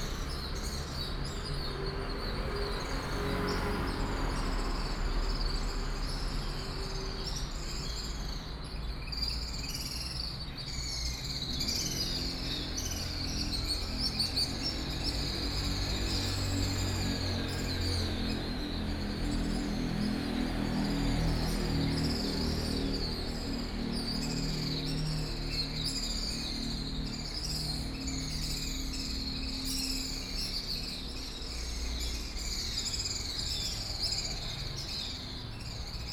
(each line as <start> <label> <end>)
0.0 Traffic sound 8.9